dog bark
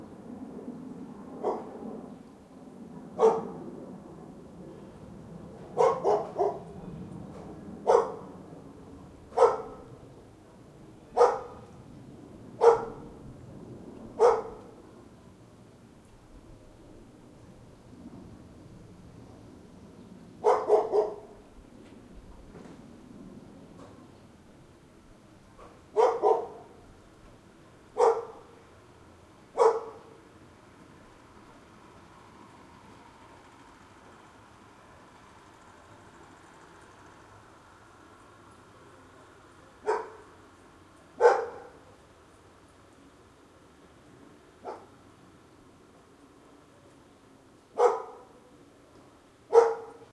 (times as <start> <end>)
1.4 1.7, 3.2 3.6, 5.8 6.6, 7.8 8.3, 9.4 9.9, 11.1 11.6, 12.6 13.1, 14.2 14.7, 20.4 21.4, 25.6 26.8, 28.0 28.5, 29.6 30.2, 39.8 40.3, 41.2 41.8, 44.6 44.9, 47.8 48.4, 49.5 50.1